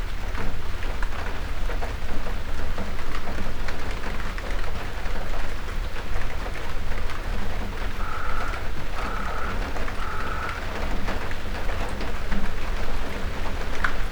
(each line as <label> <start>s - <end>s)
shower of rain 0.0s - 14.1s
crows 8.0s - 10.7s